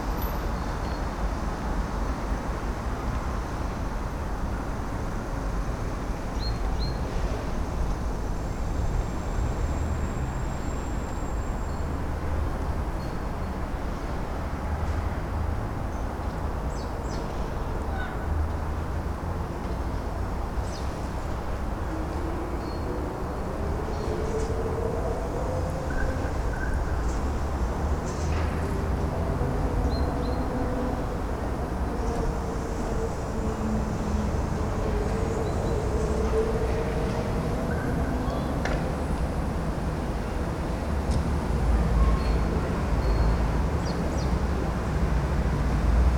5.1s birds in citys cacophony 7.7s
15.9s birds in citys cacophony 18.8s
20.5s birds in citys cacophony 38.7s
42.0s birds in citys cacophony 45.1s

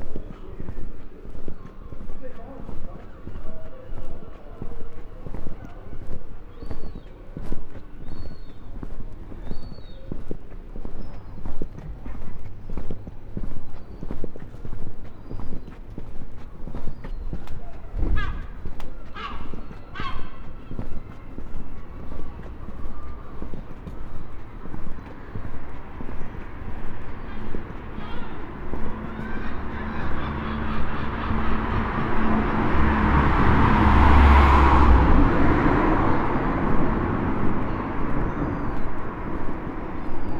0.0s voices 40.3s
17.0s gulls 33.3s
18.1s occasional car 40.3s

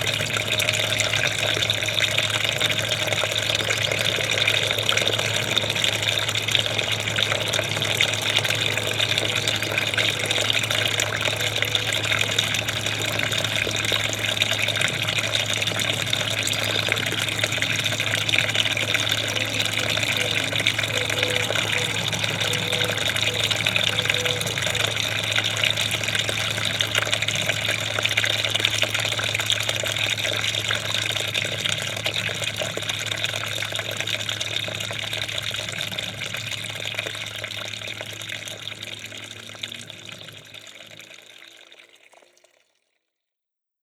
0.0s small garden fountain 43.2s
0.1s trains passing by on the nearby railway tracks 26.8s

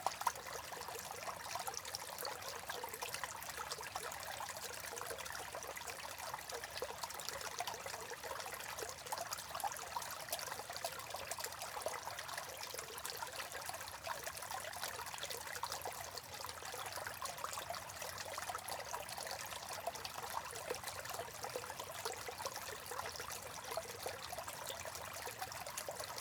0.0s Trickling Water 26.2s

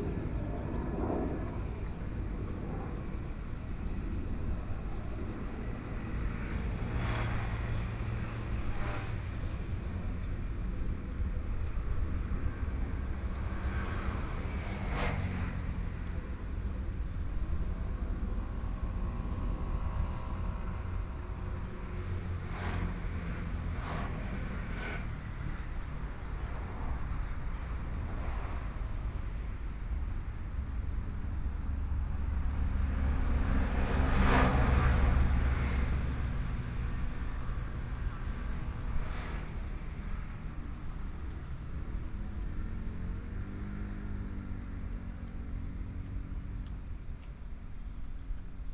18.3s Traffic Sound 48.7s

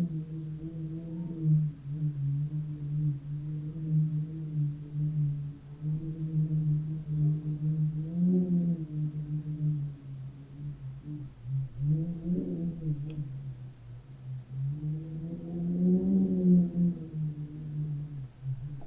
17.0s rumble of a window 18.8s

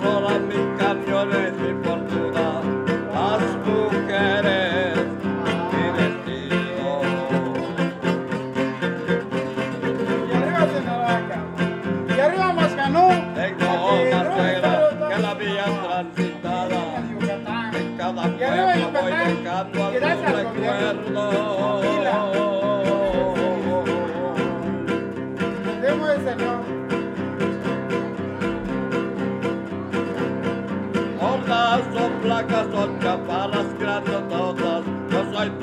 0.0s musicien 35.6s

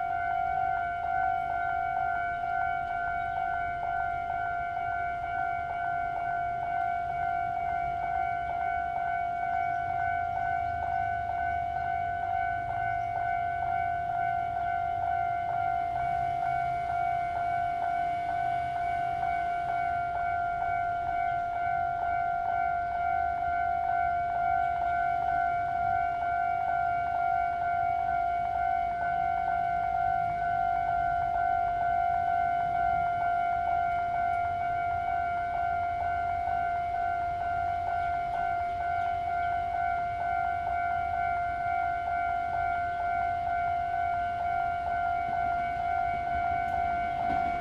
0.0s The train passes by 47.6s
0.0s Traffic sound 47.6s

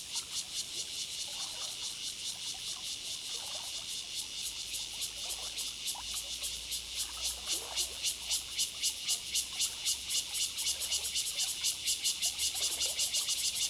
0.0s Cicadas sound 13.6s
1.2s Streams waterway 4.0s
4.7s Streams waterway 9.9s

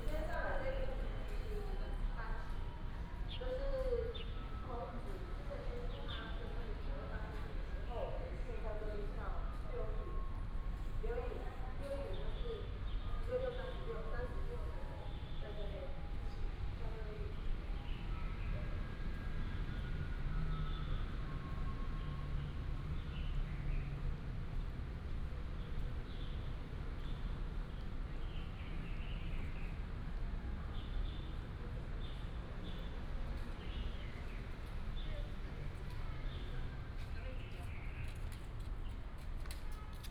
0.0s Traffic sound 40.1s

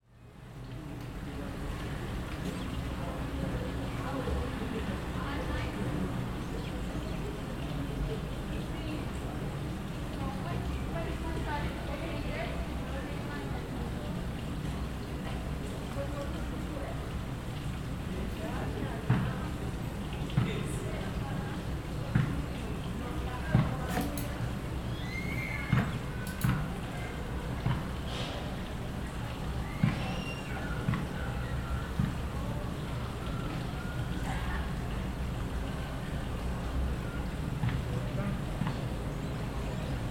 0.0s WIND 40.1s
24.9s GIRL SCREAMS 25.8s

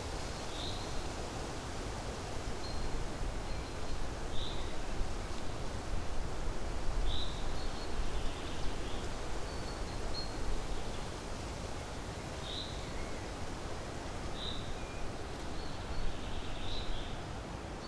0.0s wind 17.8s

